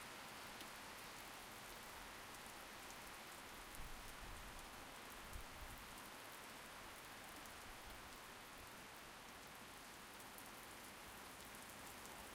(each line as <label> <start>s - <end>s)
Heavy Rain 0.0s - 12.3s